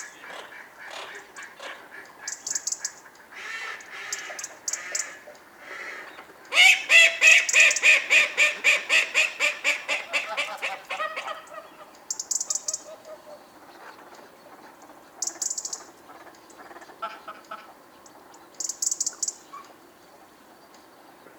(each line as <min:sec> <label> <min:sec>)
0:00.0 ducks 0:11.9
0:08.2 Gooses 0:12.0
0:15.8 ducks 0:17.8